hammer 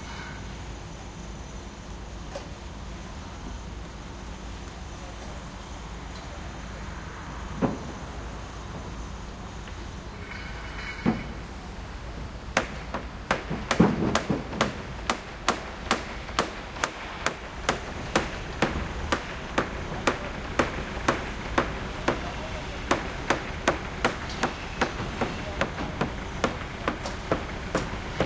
12.6 28.2

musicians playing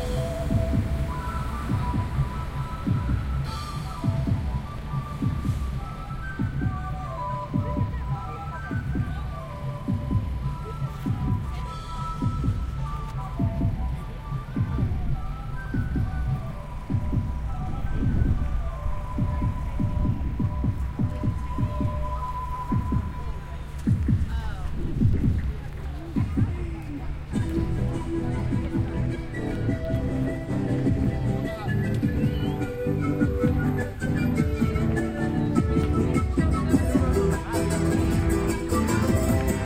0.0 5.2, 27.3 39.6

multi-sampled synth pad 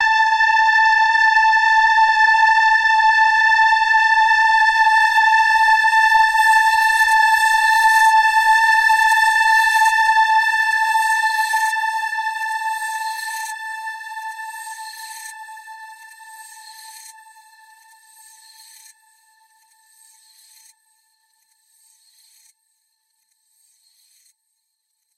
0.0 17.0

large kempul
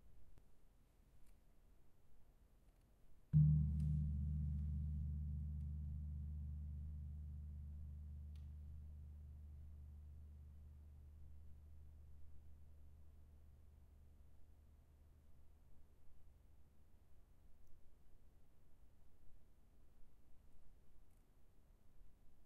3.4 10.4

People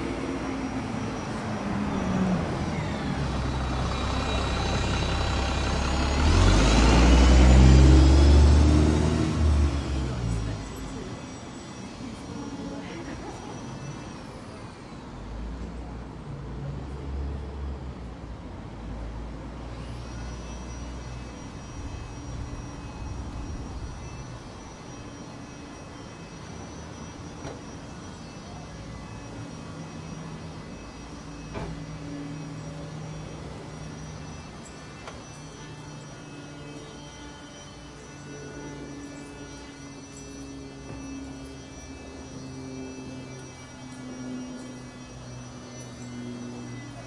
9.7 17.0

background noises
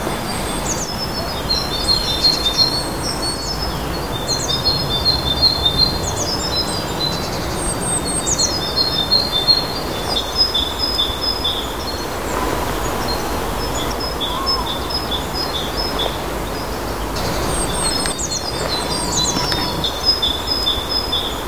9.0 21.4

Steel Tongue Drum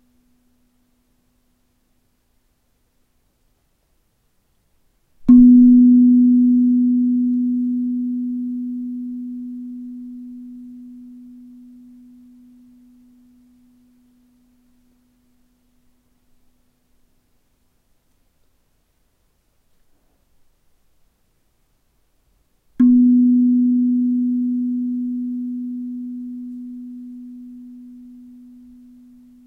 5.2 14.9

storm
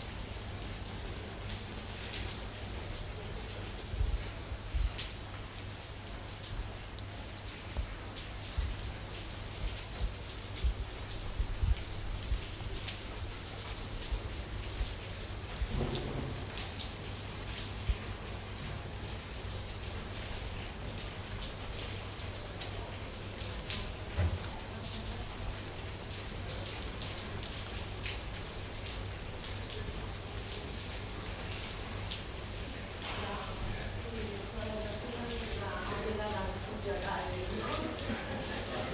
14.1 17.2

